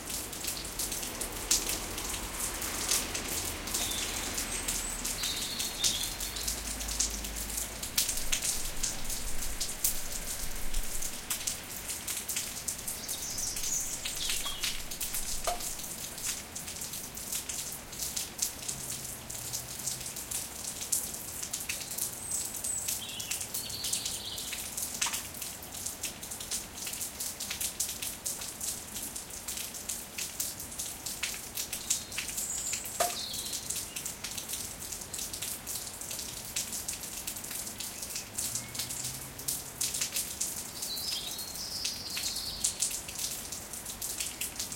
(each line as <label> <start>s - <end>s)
Rain 0.0s - 44.7s